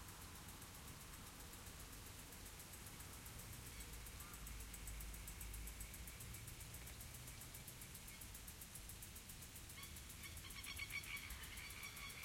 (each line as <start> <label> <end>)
0.0 sprinklers in the distance 12.2
9.8 bird calls 12.2